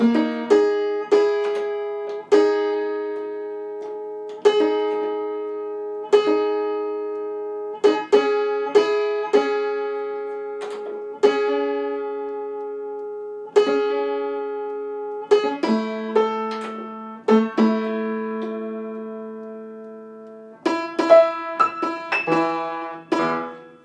Piano tuning, bringing two or three strings into unison 0:20.6 - 0:23.8

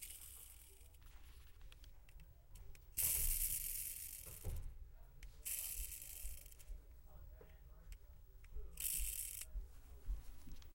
spinning racecar wheels 0:00.0 - 0:01.1
spinning racecar wheels 0:03.0 - 0:04.5
spinning racecar wheels 0:05.4 - 0:06.6
spinning racecar wheels 0:08.8 - 0:09.5

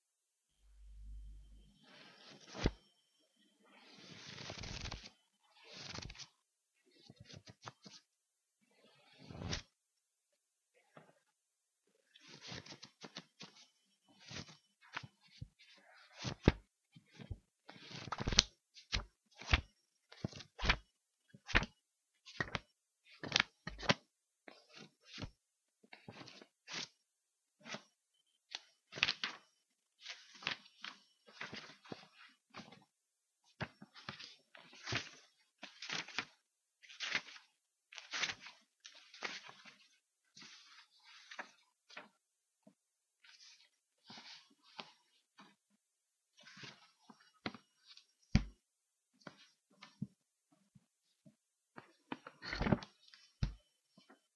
rustling the pages 0:01.8 - 0:02.8
book, opening and closing 0:01.8 - 0:02.8
turning individual pages 0:01.9 - 0:02.8
book, opening and closing 0:03.8 - 0:06.3
rustling the pages 0:03.8 - 0:06.3
turning individual pages 0:03.8 - 0:06.3
rustling the pages 0:07.1 - 0:08.0
turning individual pages 0:07.1 - 0:08.0
rustling the pages 0:08.9 - 0:09.7
turning individual pages 0:08.9 - 0:09.7
book, opening and closing 0:09.2 - 0:09.7
turning individual pages 0:12.2 - 0:15.4
rustling the pages 0:12.2 - 0:20.8
book, opening and closing 0:12.2 - 0:20.9
turning individual pages 0:16.0 - 0:20.8
rustling the pages 0:21.4 - 0:25.3
turning individual pages 0:21.4 - 0:25.3
book, opening and closing 0:21.5 - 0:25.4
rustling the pages 0:25.9 - 0:27.0
turning individual pages 0:25.9 - 0:27.0
book, opening and closing 0:26.0 - 0:27.0
rustling the pages 0:27.6 - 0:27.9
turning individual pages 0:27.6 - 0:27.9
book, opening and closing 0:27.6 - 0:27.9
book, opening and closing 0:28.5 - 0:32.9
turning individual pages 0:28.5 - 0:32.9
rustling the pages 0:28.5 - 0:32.9
rustling the pages 0:33.5 - 0:45.6
turning individual pages 0:33.5 - 0:45.6
book, opening and closing 0:33.5 - 0:42.1
rustling the pages 0:46.3 - 0:48.5
turning individual pages 0:46.4 - 0:48.5
book, opening and closing 0:46.4 - 0:48.6
rustling the pages 0:49.2 - 0:50.2
turning individual pages 0:49.2 - 0:50.1
rustling the pages 0:51.1 - 0:54.3
turning individual pages 0:51.8 - 0:54.2
book, opening and closing 0:51.8 - 0:54.2

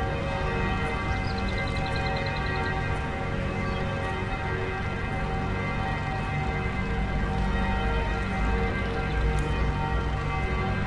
church bells 0:00.0 - 0:10.8
birds 0:00.9 - 0:02.7

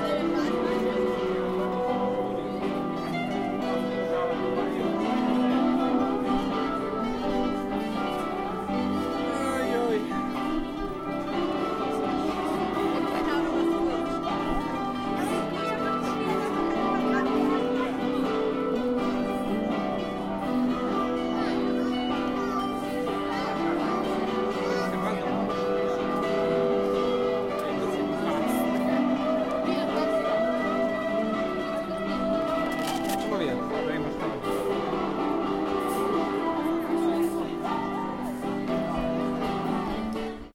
crowd 0:00.0 - 0:40.5
guitar player 0:00.0 - 0:40.5

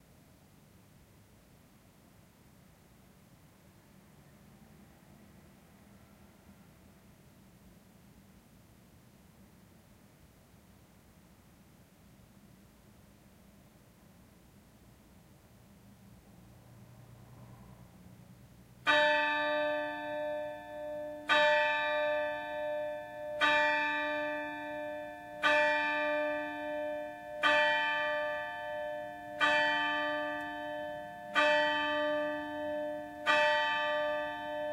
Church bell 0:18.8 - 0:34.7

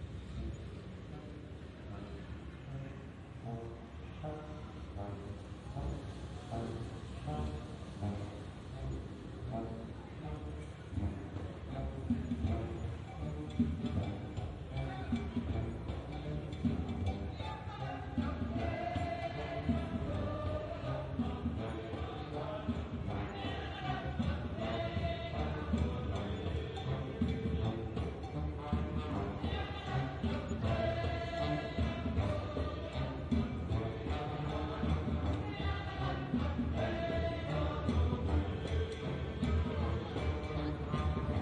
amateur musicians playing and singing on the street 0:00.0 - 0:41.4

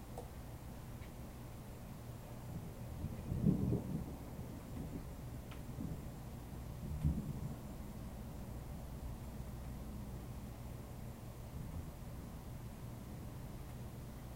rain 0:00.0 - 0:14.3
thunder 0:02.5 - 0:06.1
thunder 0:06.8 - 0:07.8

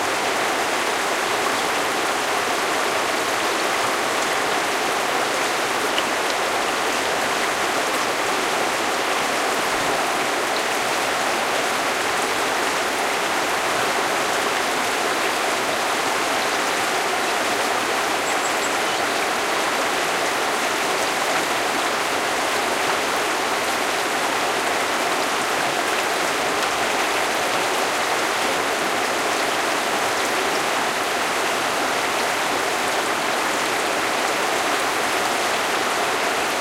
small river 0:00.0 - 0:36.6
birds singing in background 0:18.1 - 0:19.3

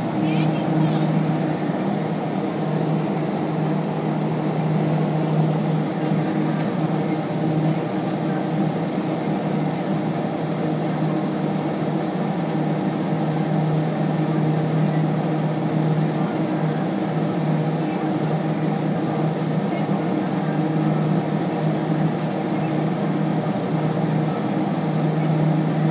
fan 0:00.0 - 0:25.9

